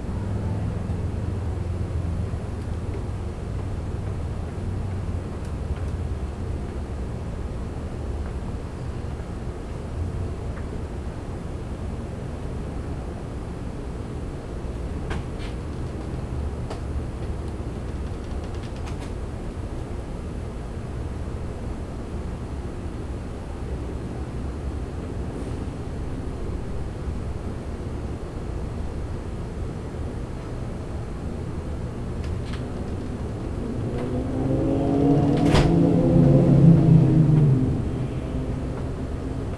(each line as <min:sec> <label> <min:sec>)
0:23.3 AC vents 0:39.5
0:25.0 typical urban sounds 0:39.5
0:32.0 door also opened multiple times 0:36.3